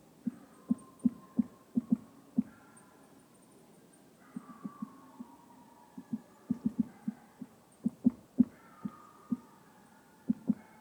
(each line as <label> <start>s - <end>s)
woodpecker 0.3s - 2.6s